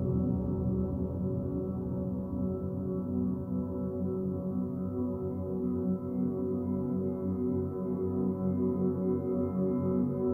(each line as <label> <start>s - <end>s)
Mellow drone 0.0s - 6.7s